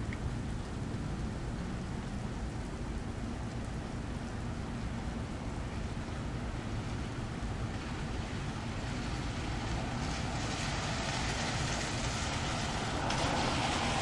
Vehicles passing in the rain 0.0 - 14.0
rain 0.0 - 14.0
Planes pass overhead 5.3 - 14.0
trucks 8.4 - 14.0
trains 10.0 - 14.0

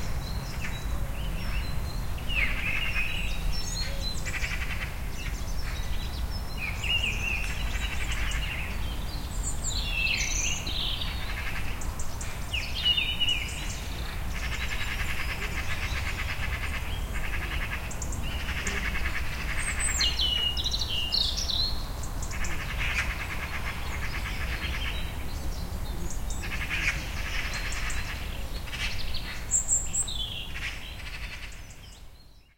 blackbird 0.0 - 32.5
sparrows 0.0 - 32.5
raven 13.5 - 20.6
crow 14.2 - 20.5
raven 22.1 - 29.8
crow 22.3 - 25.0
crow 26.4 - 29.6
crow 30.5 - 31.9

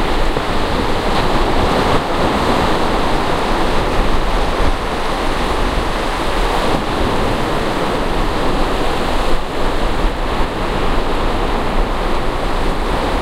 waves 0.0 - 13.2
windy 0.0 - 13.2

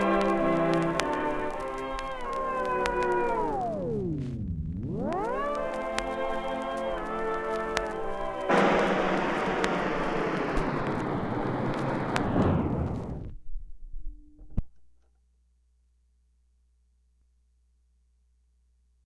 record slowly coming to stop 0.0 - 14.7

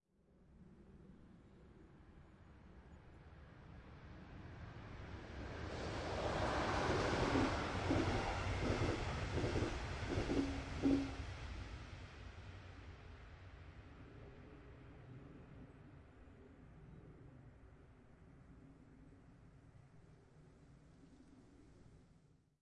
passenger train passing 5.0 - 11.8

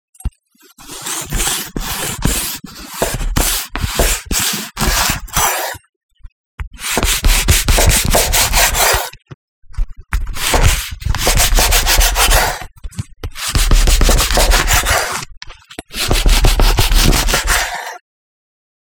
knife slicing through bread 0.8 - 5.8
knife slicing through bread 6.8 - 9.2
knife slicing through bread 10.3 - 12.7
knife slicing through bread 13.4 - 18.0

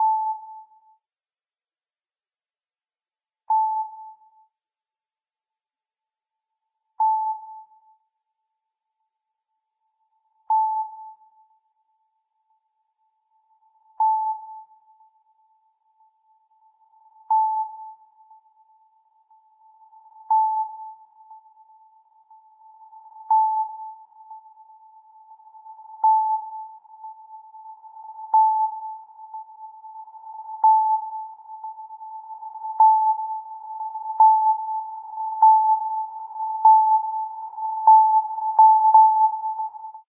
Sonar 0.0 - 1.1
Sonar 3.4 - 4.6
Sonar 6.3 - 40.0

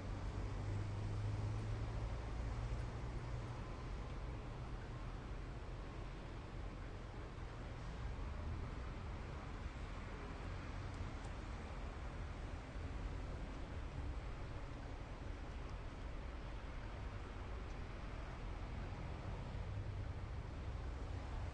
train 0.0 - 21.5

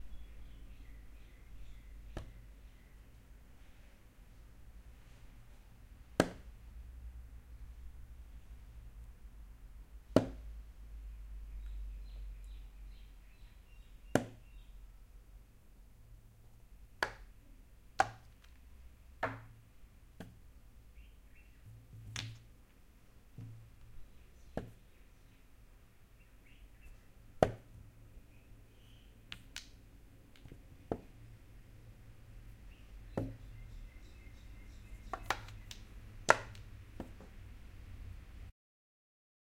Playing chess on a chessboard 1.9 - 4.0
Playing chess on a chessboard 5.0 - 6.6
Playing chess on a chessboard 9.9 - 10.6
Playing chess on a chessboard 14.0 - 14.5
Playing chess on a chessboard 16.9 - 20.6
Playing chess on a chessboard 21.6 - 25.1
Playing chess on a chessboard 26.9 - 28.0
Playing chess on a chessboard 28.9 - 31.4
Playing chess on a chessboard 32.2 - 33.7
Playing chess on a chessboard 34.5 - 37.7

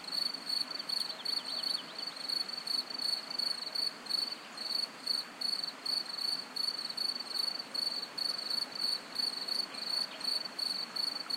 Crickets 0.0 - 11.3

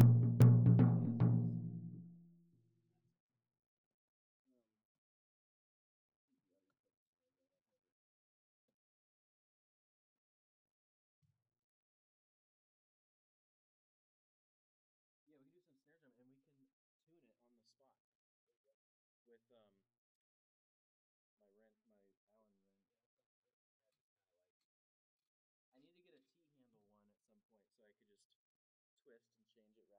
Med-low Tom 0.0 - 2.1

